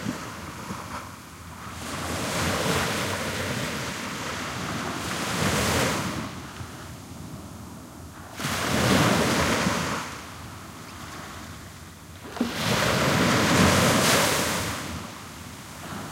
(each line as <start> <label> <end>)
0.0 very distant waves 16.1
8.4 Waves splashing on a sandy beach 10.2
12.2 Waves splashing on a sandy beach 16.1